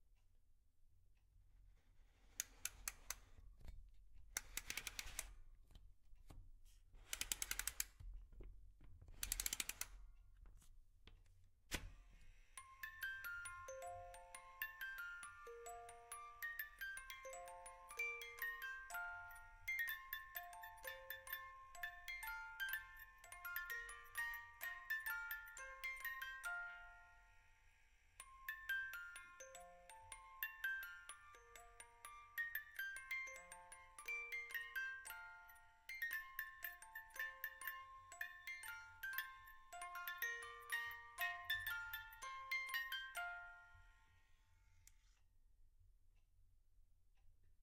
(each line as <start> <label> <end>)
2.1 Music-box winding 3.4
4.4 Jingle Bells on a Music Box 5.3
4.4 Music-box winding 5.4
7.0 Music-box winding 8.0
7.1 Jingle Bells on a Music Box 8.0
9.2 Music-box winding 10.0
9.2 Jingle Bells on a Music Box 10.0
12.1 Jingle Bells on a Music Box 44.8
12.4 Music-box winding 45.1